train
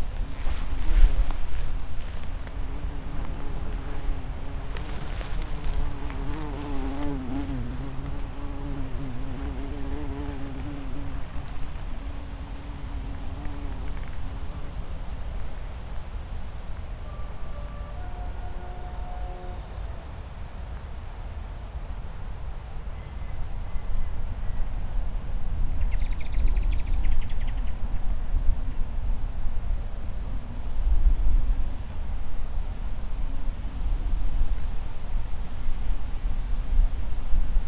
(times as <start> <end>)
16.6 21.0